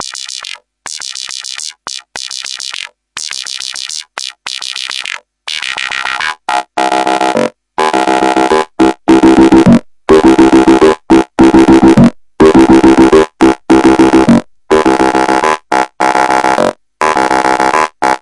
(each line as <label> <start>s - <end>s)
synth acid loops 0.0s - 18.2s